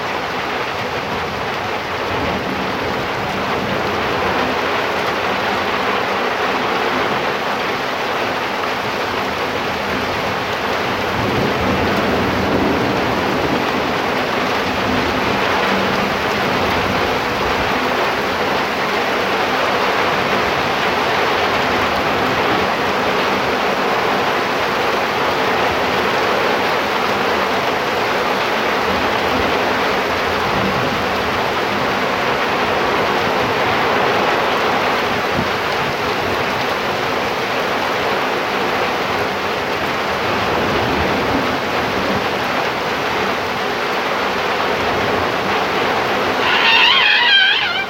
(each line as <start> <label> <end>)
0.0 Rain 47.8
11.0 Thunder 17.0